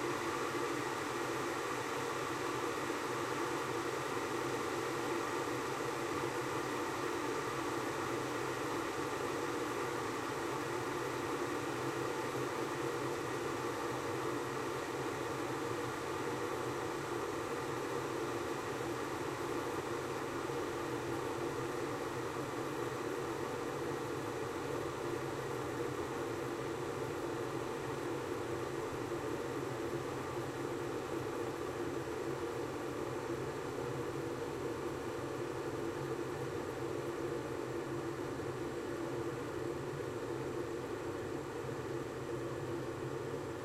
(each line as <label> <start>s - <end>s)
boiling a kettle 0.0s - 43.6s